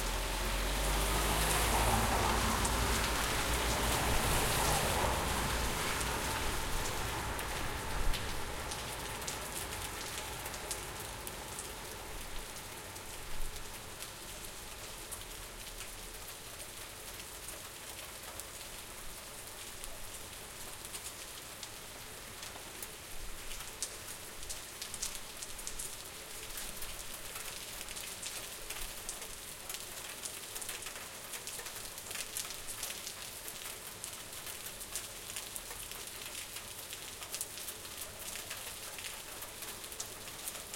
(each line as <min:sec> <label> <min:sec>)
0:00.0 cars, vans 0:18.7
0:00.0 subtle wind noises 0:29.6
0:00.0 Rain 0:40.7
0:00.1 pedestrians 0:13.1